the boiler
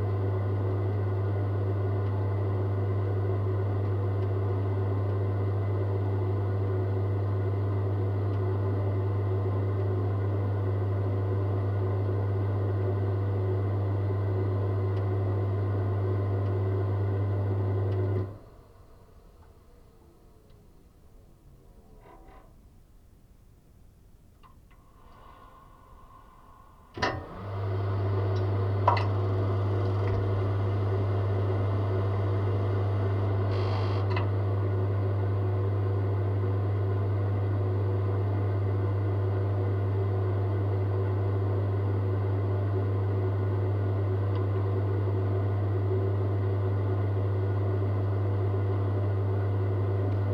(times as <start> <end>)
24.4 41.2